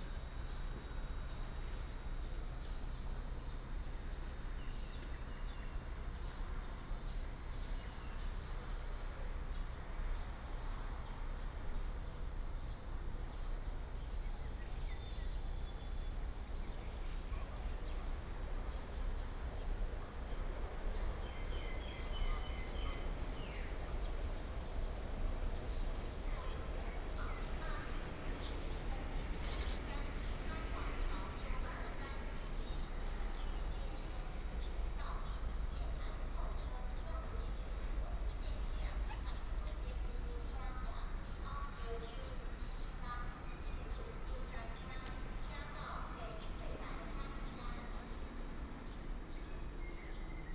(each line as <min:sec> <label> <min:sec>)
0:14.0 The train arrives 0:50.5
0:25.6 Station Message Broadcast 0:50.0